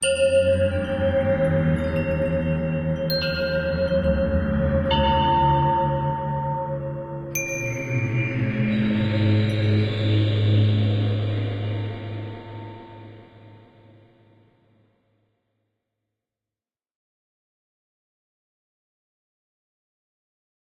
Bells 0:00.0 - 0:13.7

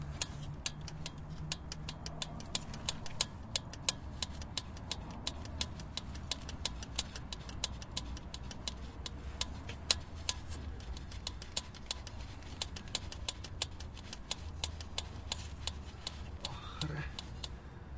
manual use fuel pump 0:00.0 - 0:17.7

